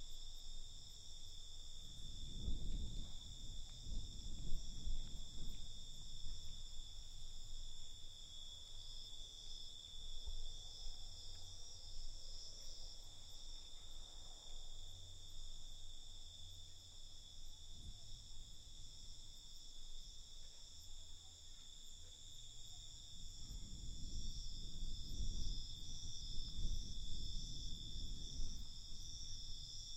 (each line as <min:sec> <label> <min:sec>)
0:00.0 cicadas 0:29.9
0:00.0 crickets 0:29.9
0:00.0 wind 0:29.9
0:01.8 fire crackers 0:08.0